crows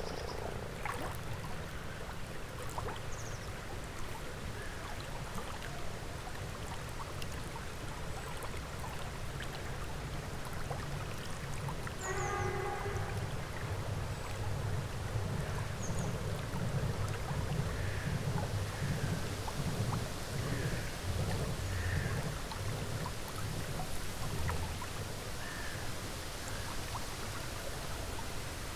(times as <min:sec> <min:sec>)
0:21.7 0:22.2